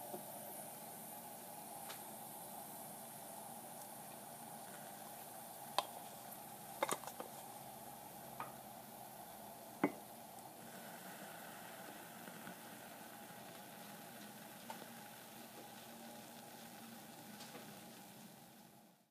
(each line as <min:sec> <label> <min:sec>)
0:00.0 Steaming milk on a consumer-grade latte maker 0:19.1
0:01.3 pouring coffee 0:19.0